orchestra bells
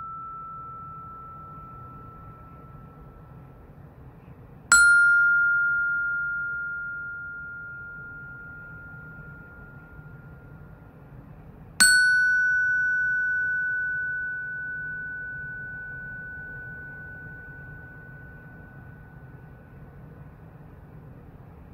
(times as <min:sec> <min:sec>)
0:00.0 0:03.9, 0:11.8 0:20.3